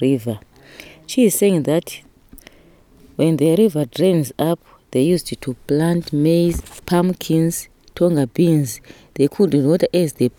gives a summary translation of the interview 3.2 - 10.3

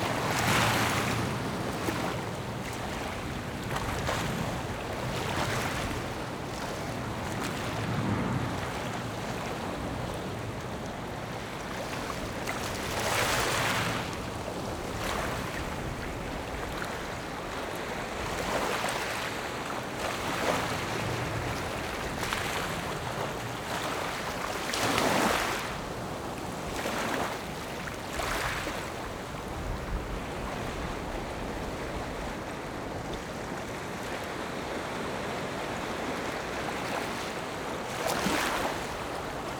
Waves and tides 0.0 - 39.5

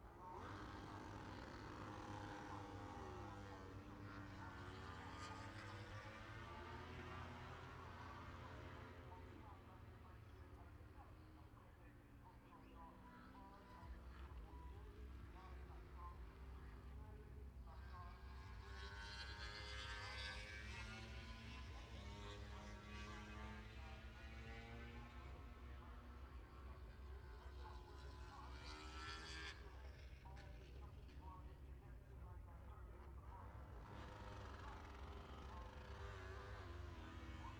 motorcycle grand prix 0.0 - 37.5

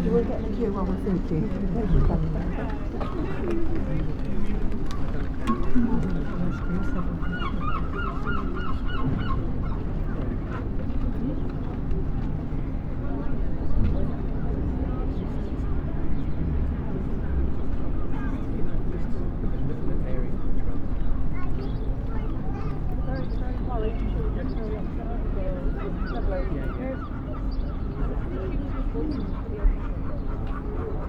children play 0.0 - 12.4
Passers-by talk 0.0 - 31.0
children play 20.8 - 31.0

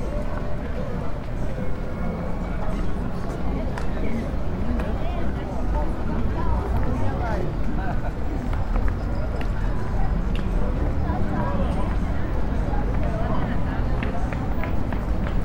street vendors 0.0 - 15.4
wind 0.0 - 15.4

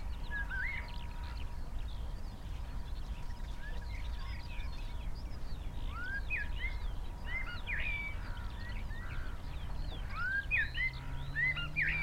background noise 0.0 - 12.0
blackbird 0.0 - 12.0
pheasant 0.0 - 12.0
red-legged partridge 0.0 - 12.0
skylark 0.0 - 12.0
song thrush 0.0 - 12.0
crows 8.0 - 9.4

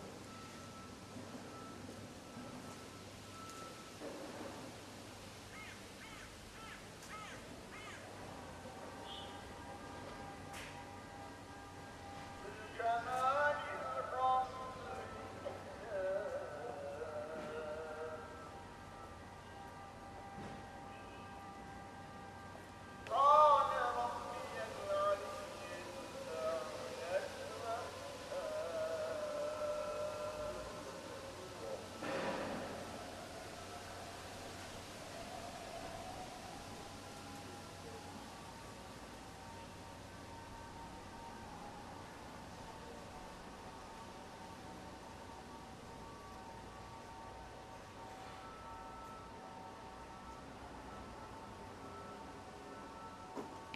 Afternoon ezan 5.5 - 8.1
Afternoon ezan 8.8 - 19.8
Afternoon ezan 23.1 - 38.8

